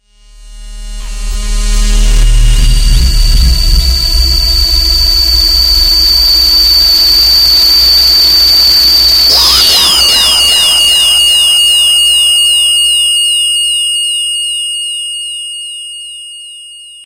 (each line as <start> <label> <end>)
9.2 dub siren 14.6